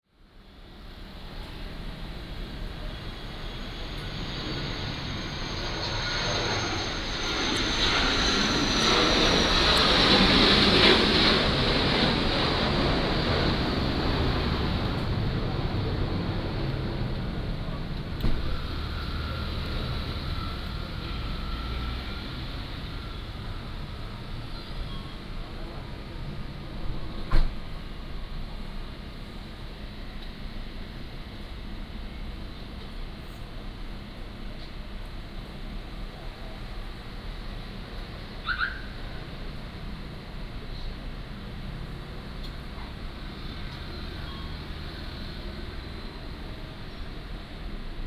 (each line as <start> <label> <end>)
1.0 Traffic Sound 24.9